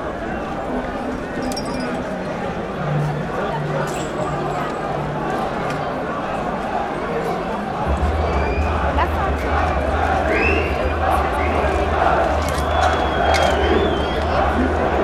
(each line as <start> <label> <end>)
0.0 people gathering 15.0